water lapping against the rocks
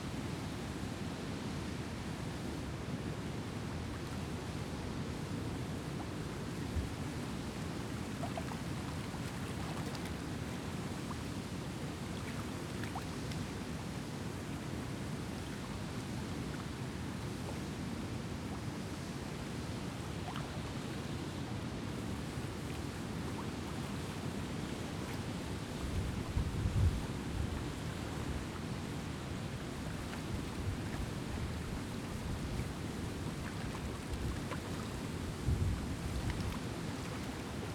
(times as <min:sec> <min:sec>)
0:05.8 0:11.0, 0:23.2 0:37.7